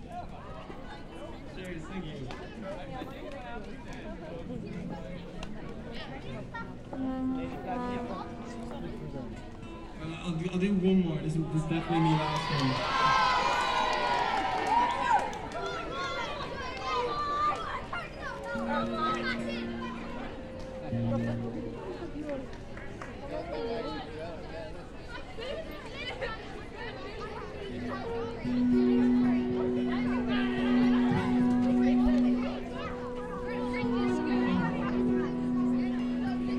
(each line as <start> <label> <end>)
4.1 Music 11.1
18.2 Music 24.1
27.4 Music 36.5